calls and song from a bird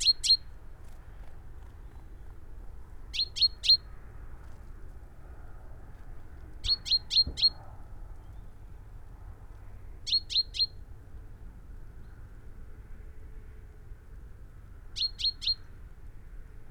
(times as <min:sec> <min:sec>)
0:00.0 0:00.5, 0:03.1 0:03.9, 0:06.6 0:08.5, 0:10.1 0:10.8, 0:15.0 0:15.7